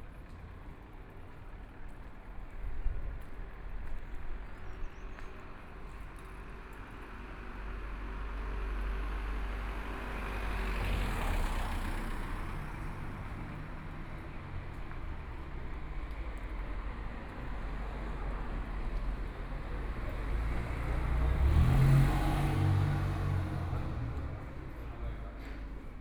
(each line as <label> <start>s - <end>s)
Walking in and outside the gallery space 0.0s - 9.8s
Traffic Sound 7.1s - 26.0s
Walking in and outside the gallery space 11.5s - 21.7s
Walking in and outside the gallery space 22.3s - 26.0s